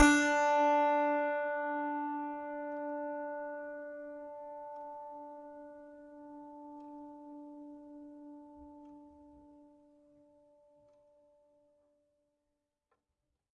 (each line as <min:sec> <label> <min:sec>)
0:00.0 piano strings played with a finger 0:07.4